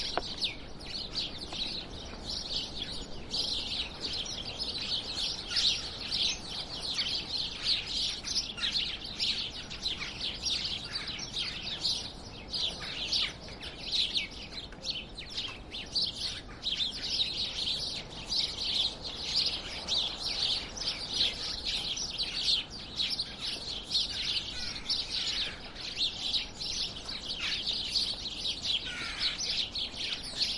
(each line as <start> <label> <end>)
0.0 Sparrows chirping 30.5